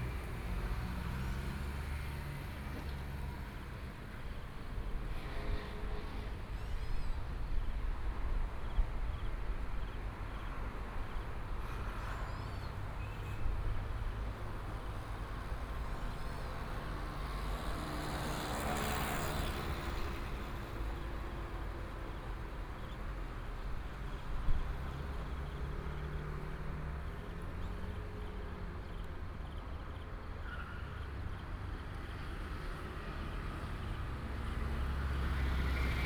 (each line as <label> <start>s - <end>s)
Traffic Sound 0.0s - 36.0s